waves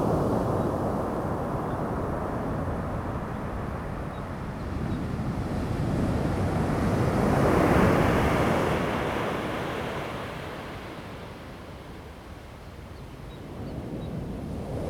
5.4 13.0

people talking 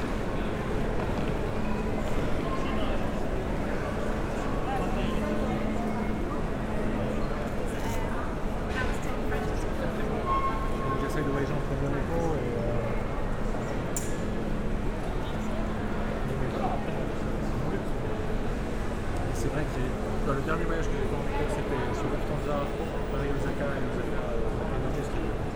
0.1 13.0, 19.3 25.5

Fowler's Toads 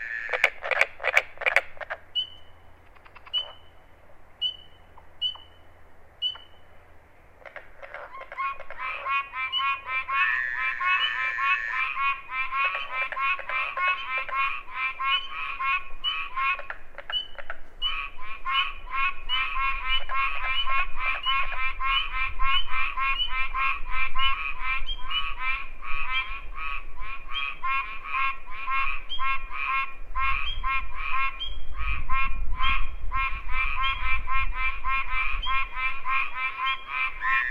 0.0 3.7, 7.4 18.6

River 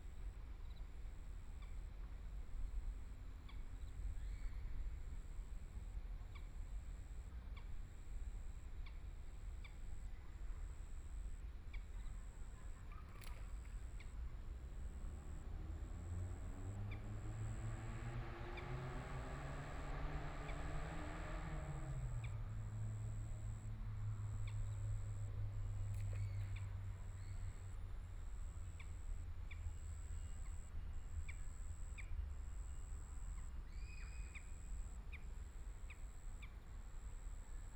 11.8 37.7

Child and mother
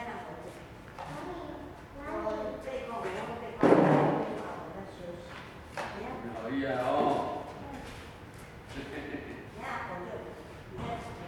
1.0 3.6

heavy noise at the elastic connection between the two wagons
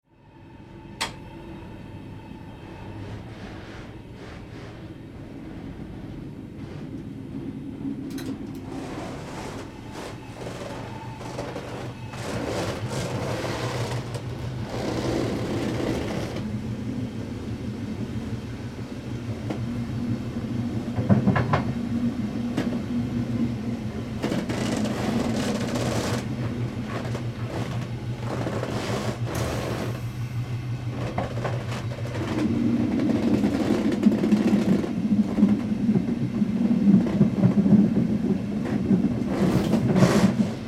24.2 30.0

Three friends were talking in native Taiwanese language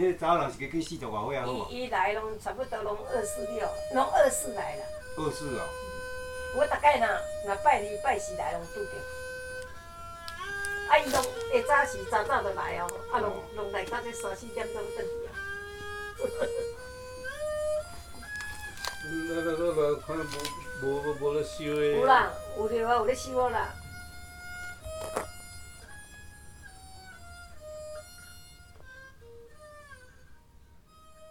0.0 16.8, 17.5 24.3

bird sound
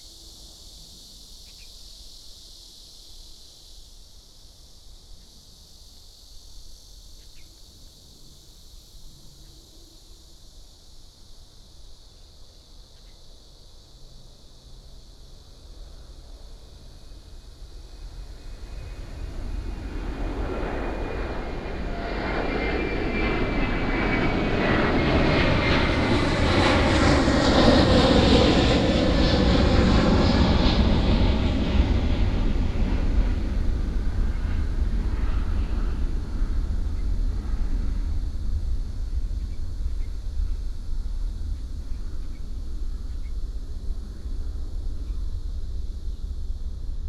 1.4 1.8

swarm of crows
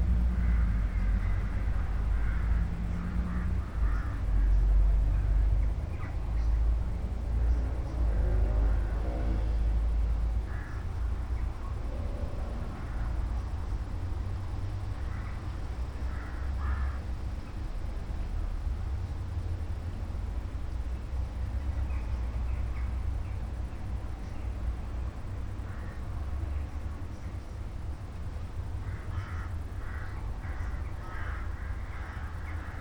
0.1 6.7, 7.4 11.8, 12.5 13.7, 14.4 17.5, 25.6 26.8, 28.6 32.8

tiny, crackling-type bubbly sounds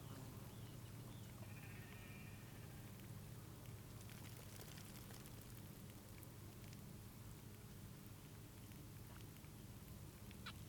3.7 7.6

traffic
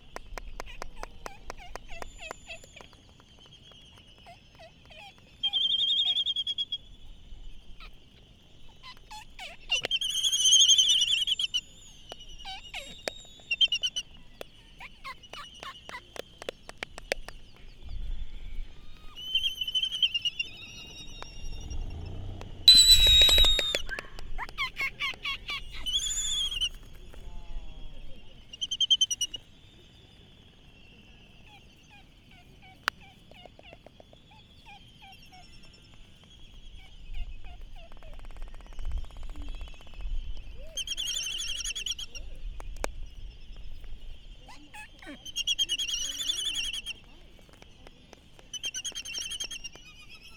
19.8 27.6

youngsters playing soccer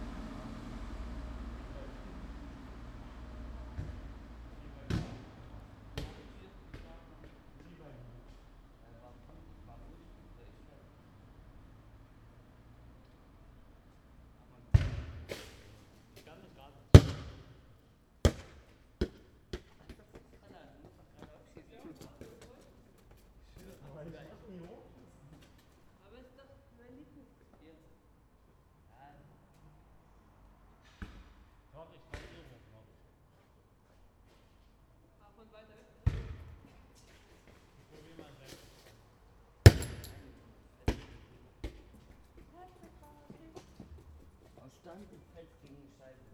0.0 9.7, 18.2 26.0, 39.6 46.3

